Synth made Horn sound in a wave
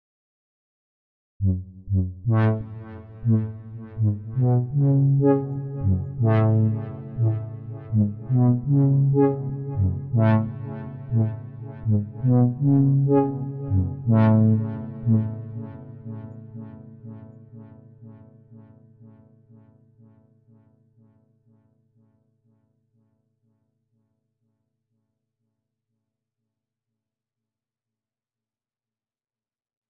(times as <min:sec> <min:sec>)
0:01.4 0:17.2